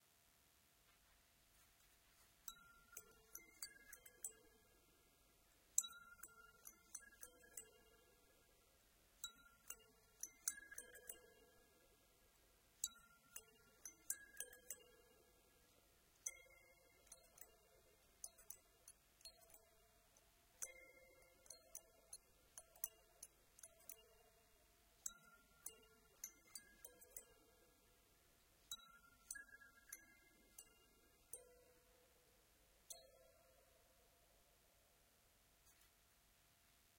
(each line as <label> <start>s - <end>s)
kalimba 28.7s - 32.3s